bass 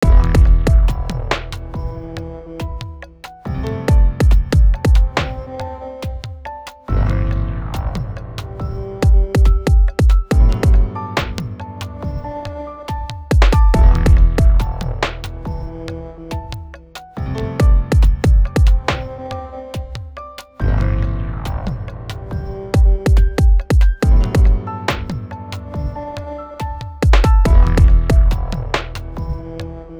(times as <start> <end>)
0.0 5.6, 6.9 9.6, 10.3 12.4, 13.4 19.2, 20.6 23.4, 24.0 26.0, 27.1 29.9